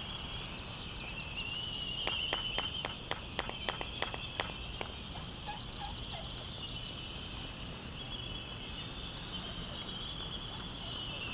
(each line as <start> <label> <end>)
0.0 white terns 11.3
0.0 wind thru iron wood trees 11.3
2.0 canaries 11.3
2.0 laysan albatross calls and bill clappers 6.6